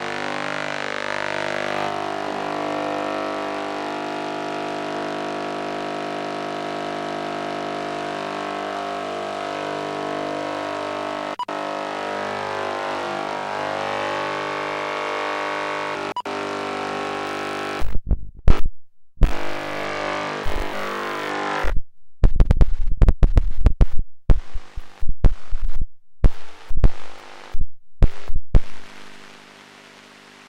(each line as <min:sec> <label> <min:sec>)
0:19.2 noise radio 0:21.8
0:26.3 noise radio 0:30.4